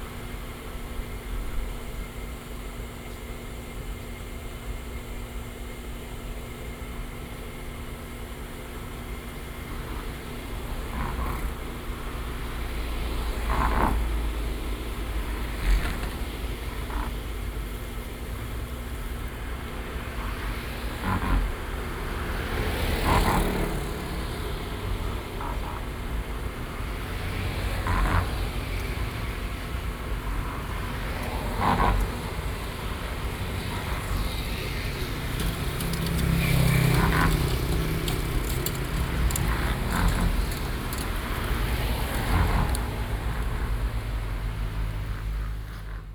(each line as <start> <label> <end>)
0.0 noise of the air conditioning cooling tank 46.1
7.5 Traffic noise 46.1